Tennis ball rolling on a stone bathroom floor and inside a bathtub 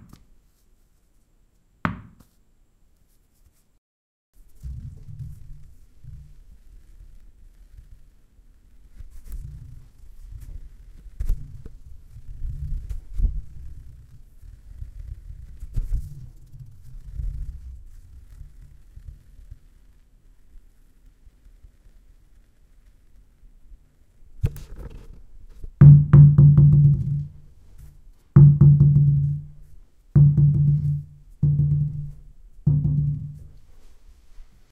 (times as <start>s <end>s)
4.6s 7.1s, 24.4s 34.5s